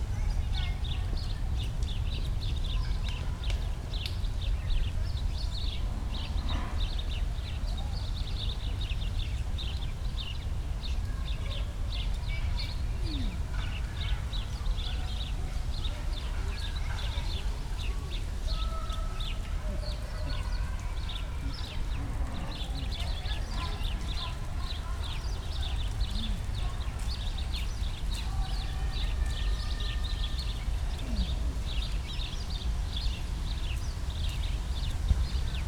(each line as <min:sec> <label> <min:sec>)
0:11.0 kids playing 0:32.2